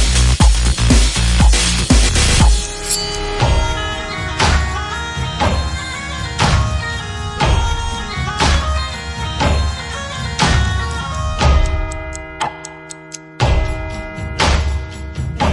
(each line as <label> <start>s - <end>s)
drums 0.0s - 6.8s
drums 13.4s - 15.5s